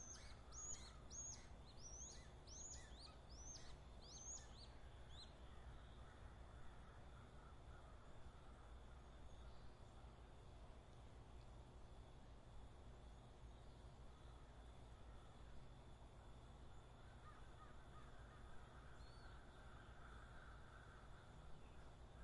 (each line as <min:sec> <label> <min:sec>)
0:05.5 crows cawing 0:08.8
0:17.1 crows cawing 0:21.5